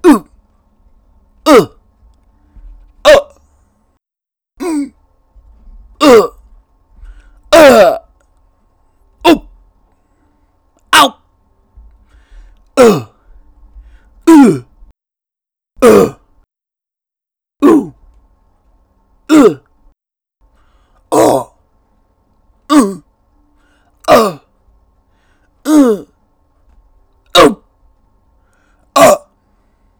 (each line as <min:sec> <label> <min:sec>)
0:00.0 Grunts and efforts 0:00.4
0:01.4 Grunts and efforts 0:01.8
0:03.0 Grunts and efforts 0:03.4
0:04.6 Grunts and efforts 0:05.0
0:06.0 Grunts and efforts 0:06.4
0:07.1 Grunts and efforts 0:08.1
0:09.2 Grunts and efforts 0:09.6
0:10.9 Grunts and efforts 0:11.2
0:12.2 Grunts and efforts 0:13.3
0:13.9 Grunts and efforts 0:14.8
0:15.8 Grunts and efforts 0:16.3
0:17.6 Grunts and efforts 0:18.0
0:19.3 Grunts and efforts 0:19.7
0:21.1 Grunts and efforts 0:21.6
0:22.7 Grunts and efforts 0:23.1
0:24.0 Grunts and efforts 0:24.5
0:25.6 Grunts and efforts 0:26.2
0:27.4 Grunts and efforts 0:27.6
0:29.0 Grunts and efforts 0:29.4